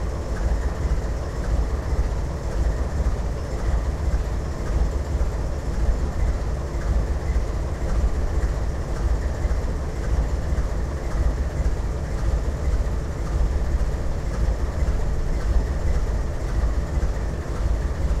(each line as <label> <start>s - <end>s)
diesel engine idling on the tracks 0.0s - 18.2s